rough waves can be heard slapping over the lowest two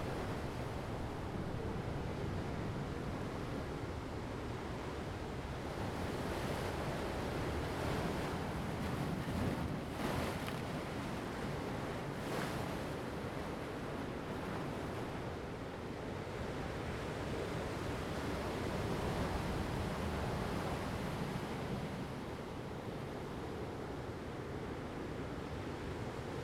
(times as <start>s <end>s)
8.3s 11.3s